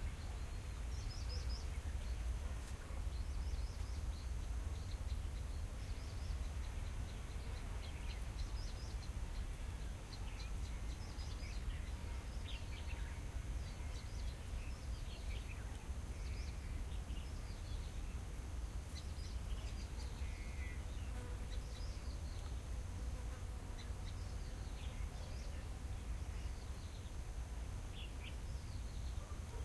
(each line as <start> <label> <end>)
18.9 bird 27.2
27.9 bird 29.6